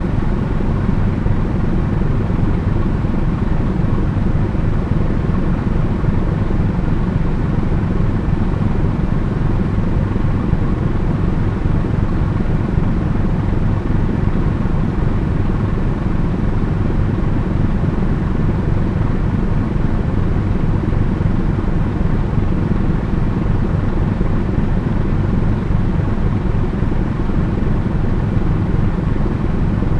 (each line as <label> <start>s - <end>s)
Ferryboat engine and exhaust system 0.0s - 29.9s